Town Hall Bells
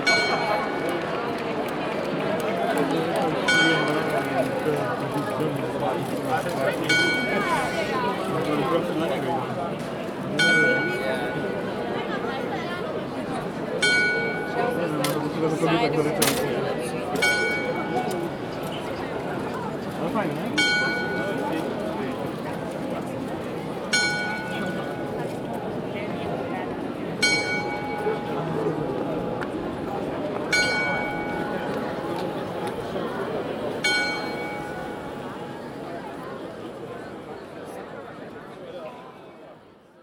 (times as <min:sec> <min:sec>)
0:00.0 0:01.6, 0:03.4 0:04.5, 0:06.8 0:07.9, 0:10.4 0:11.9, 0:13.6 0:15.4, 0:17.2 0:19.2, 0:20.5 0:23.1, 0:23.7 0:36.4